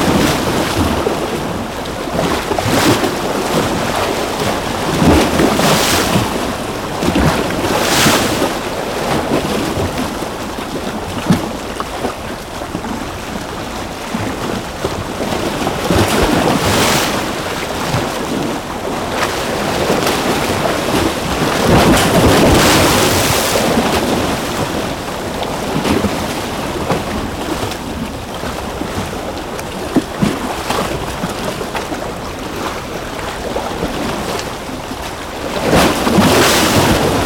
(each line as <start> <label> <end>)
0.0 Waves crashing on some concrete rocks 37.2